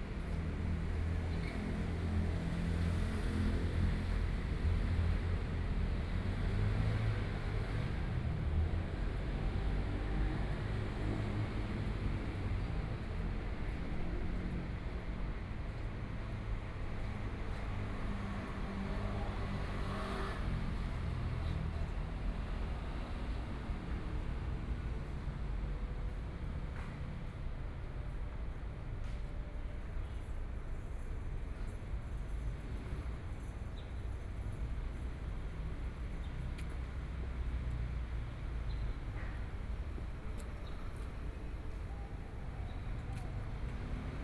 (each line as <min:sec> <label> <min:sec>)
0:15.7 Traffic Sound 0:44.2